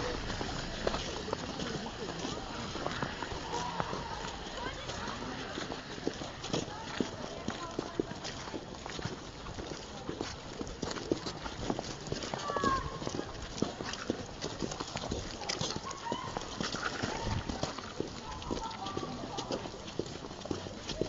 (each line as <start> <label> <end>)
0.0 snow ball battle 6.0